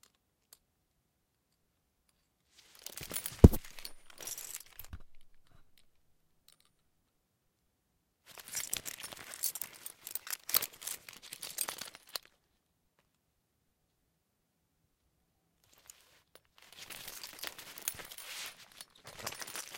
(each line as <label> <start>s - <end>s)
harness handling 2.8s - 5.8s
harness handling 16.7s - 19.7s